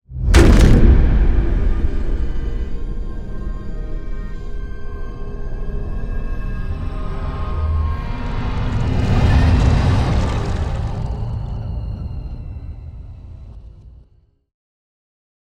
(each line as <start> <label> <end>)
0.1 whoosh 3.6
0.1 boom 3.7
0.4 riser 14.1
6.6 whoosh 14.1
8.2 boom 14.2